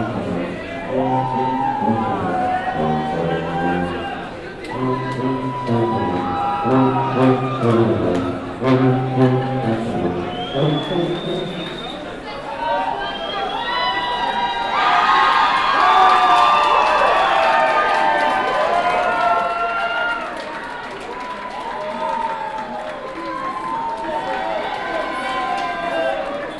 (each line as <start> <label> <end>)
0.0 tuba plays on 12.0
0.0 metro 12.8